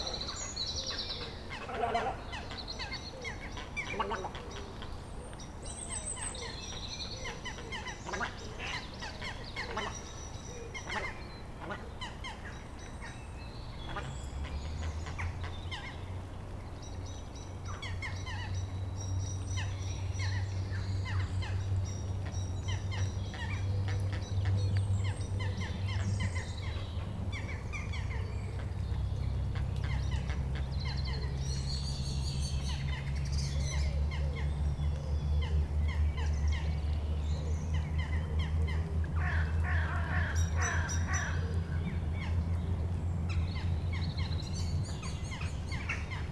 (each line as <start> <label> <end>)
0.0 Ducks 4.9
0.0 Little Egret 16.2
0.0 Blackbirds 46.3
7.2 Ducks 10.1
10.7 Ducks 12.6
13.8 Ducks 15.9
38.7 Crows 41.6